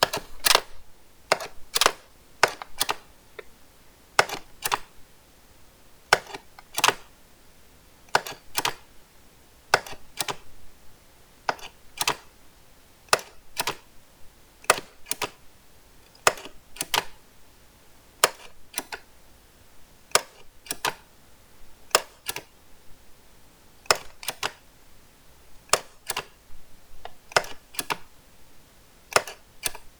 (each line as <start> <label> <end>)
0.0 stapler stapling on paper with no staple 3.5
4.2 stapler stapling on paper with no staple 5.0
6.1 stapler stapling on paper with no staple 7.2
8.1 stapler stapling on paper with no staple 8.9
9.7 stapler stapling on paper with no staple 10.5
11.5 stapler stapling on paper with no staple 12.4
13.1 stapler stapling on paper with no staple 13.9
14.6 stapler stapling on paper with no staple 15.4
16.1 stapler stapling on paper with no staple 17.2
18.2 stapler stapling on paper with no staple 19.1
20.1 stapler stapling on paper with no staple 21.1
21.9 stapler stapling on paper with no staple 22.6
23.8 stapler stapling on paper with no staple 24.7
25.6 stapler stapling on paper with no staple 28.1
29.0 stapler stapling on paper with no staple 29.9